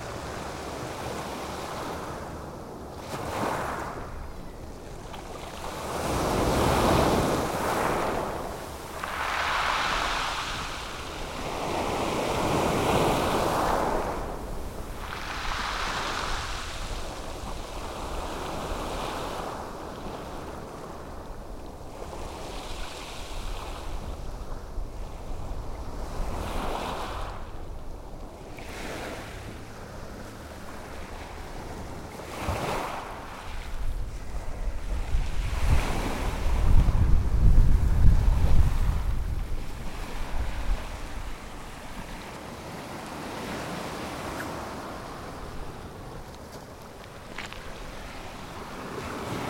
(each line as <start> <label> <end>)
5.5 ocean surf on pebble beach 27.8
28.4 ocean surf on pebble beach 49.4